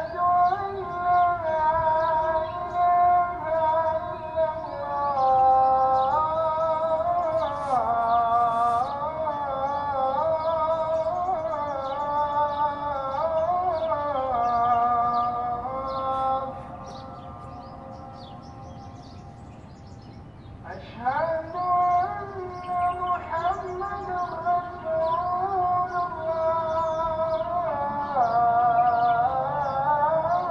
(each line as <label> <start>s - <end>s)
Muezzin 0.0s - 30.5s
birds 0.0s - 30.5s
wind 0.0s - 30.5s